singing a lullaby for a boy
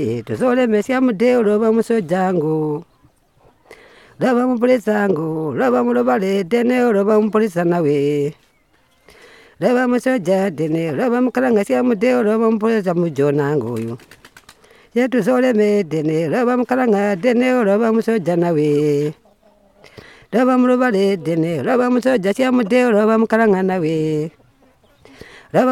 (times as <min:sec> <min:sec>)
0:04.2 0:14.0